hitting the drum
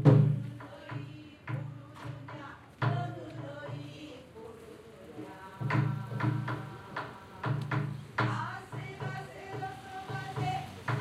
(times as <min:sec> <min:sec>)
0:00.0 0:03.8